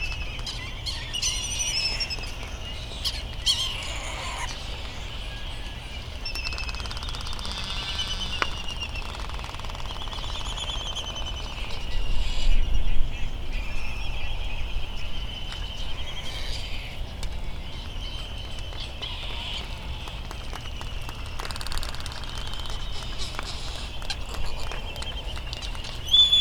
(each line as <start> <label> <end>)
0.0 slight breeze 26.4
3.0 laysan albatross calls 4.6
3.0 Bonin petrel calls 5.1
6.3 Bonin petrel calls 12.4